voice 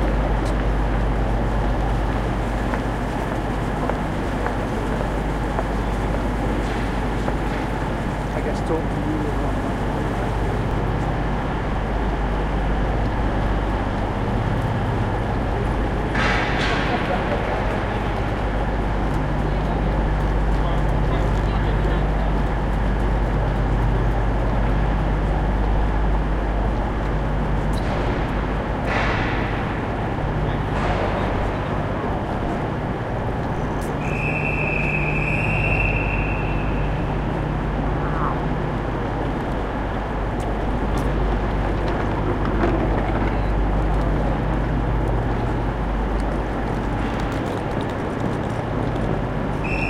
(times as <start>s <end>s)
8.3s 10.8s, 16.2s 18.1s, 19.4s 22.5s, 30.4s 32.3s, 43.0s 44.0s